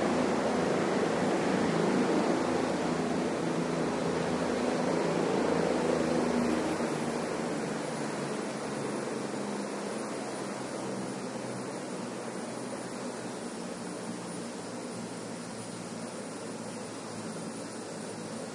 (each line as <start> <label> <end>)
0.0 helicopter approaching 18.5